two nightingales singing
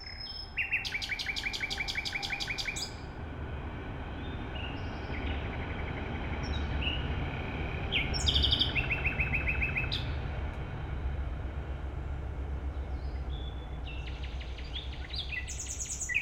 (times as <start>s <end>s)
0.0s 3.0s, 7.9s 10.2s, 12.8s 16.2s